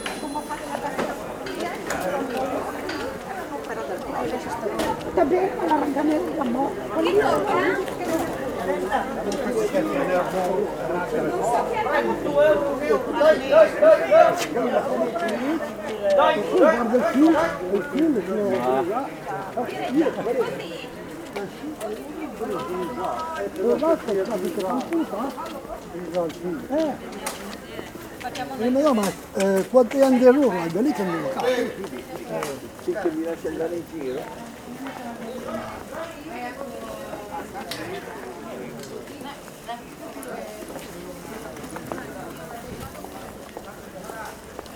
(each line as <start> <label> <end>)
0.0 sellers from different parts of the world call out 2.8
0.0 Quiet people passing by and talking 44.7